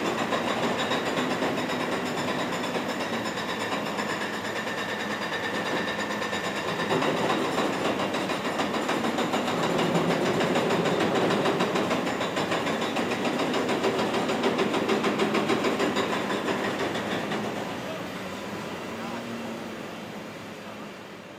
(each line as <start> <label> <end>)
0.0 Loud construction site 21.3